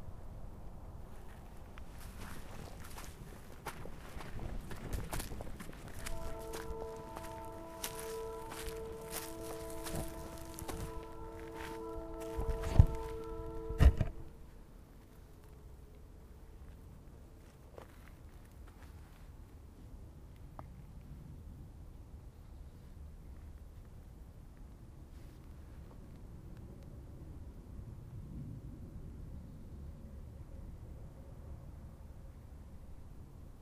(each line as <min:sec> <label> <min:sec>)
0:05.9 horn 0:14.5